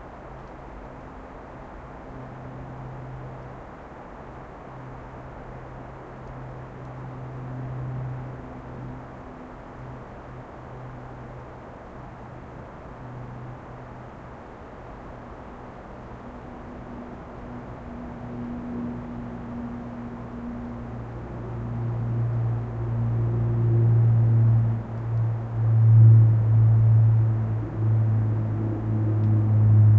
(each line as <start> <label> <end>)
0.0 propeller aircraft 29.9